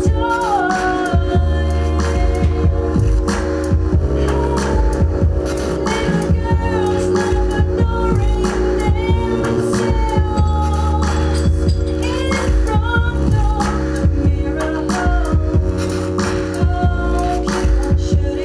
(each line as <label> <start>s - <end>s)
singer 0.0s - 18.4s